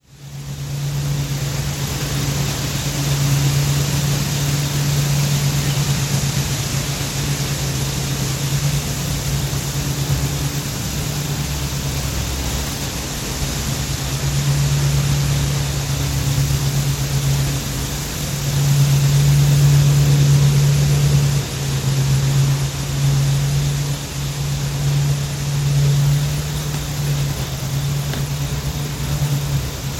Faint crickets 0.0 - 29.9
Wind through trees, rustling 0.0 - 29.9

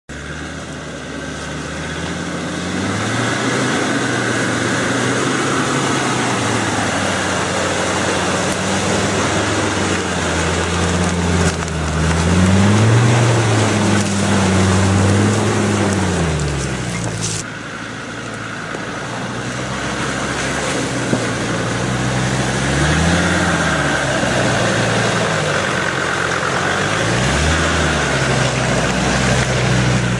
Land rover going trough water 0.1 - 30.1

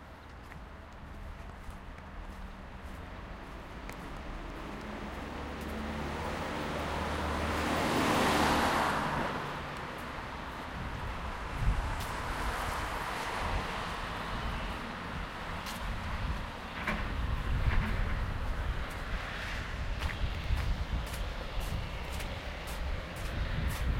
steps 0.2 - 6.4
steps 15.6 - 23.9

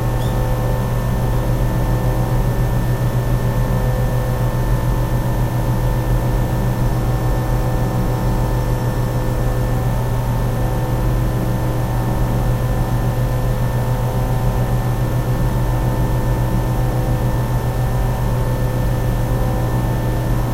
Air conditioner device 0.0 - 20.5
birds 0.1 - 0.5

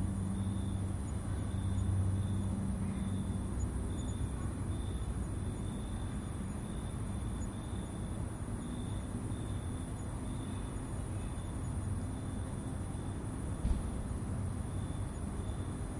cicada 0.0 - 15.9
crickets 0.0 - 15.9
traffic 0.0 - 15.9

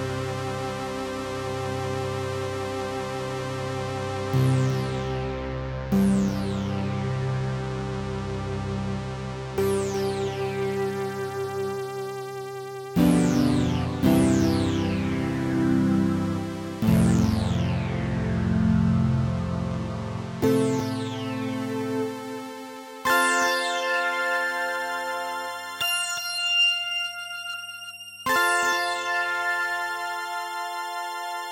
drone 13.0 - 23.0

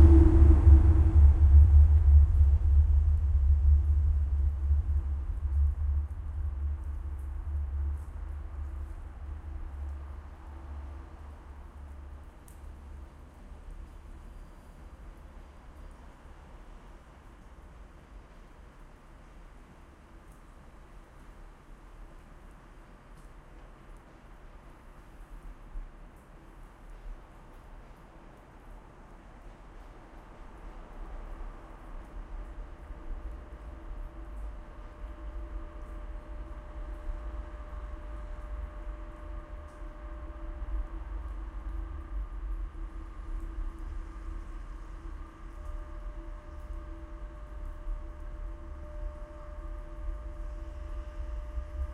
Internal sounds of the rail-line 0.0 - 51.9

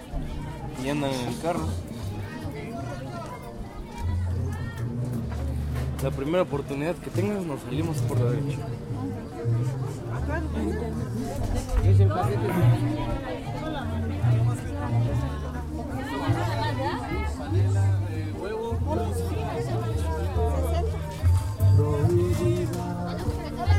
people 0.0 - 23.7

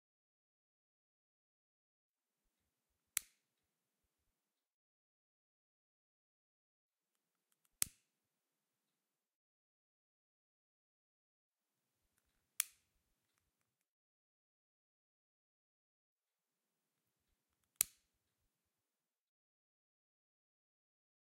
Striking the piezoelectric lighter 12.6 - 12.8

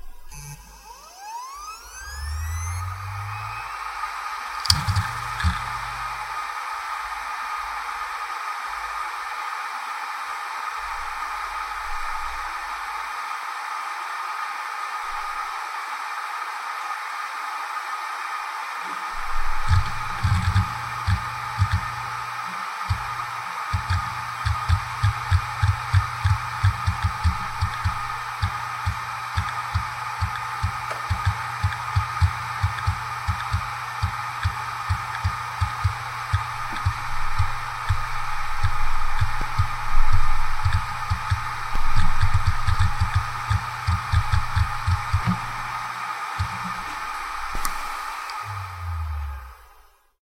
hard drive 0.0 - 13.2
hard drive 18.2 - 50.1

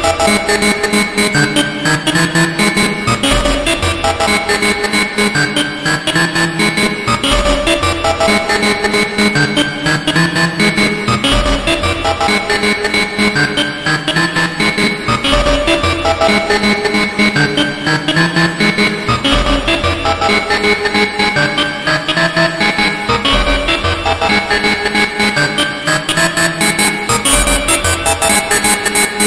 groovy distorted melody 0.0 - 29.2

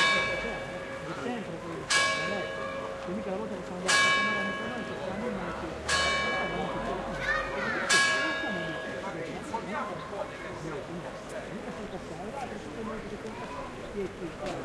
bell 0.0 - 1.3
crowd 0.0 - 14.6
bell 1.9 - 9.6

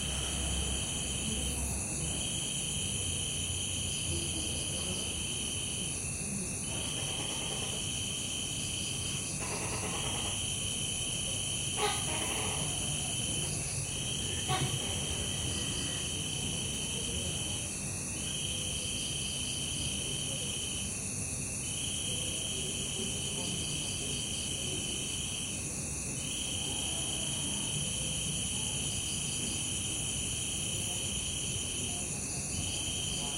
Crickets 0.0 - 33.3
Goose (or Duck) 11.8 - 12.9

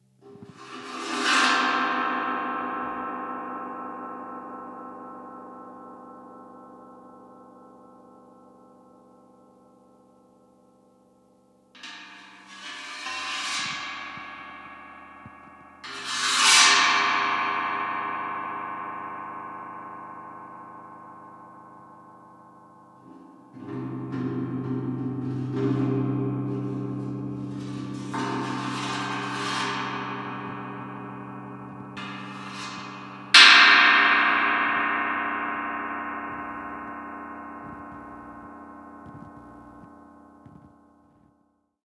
Scrapes and bonks on a big gong 11.8 - 41.3

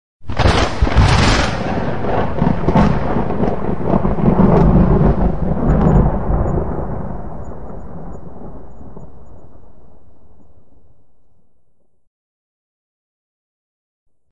Single thunder clap 0.3 - 9.8

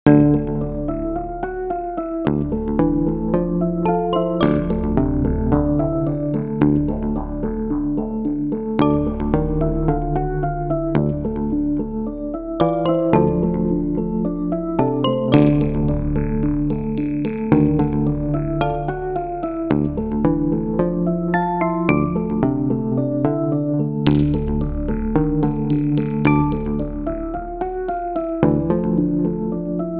bass 0.0 - 29.9
plucks 3.9 - 14.0
plucks 14.8 - 22.5
plucks 24.1 - 29.9

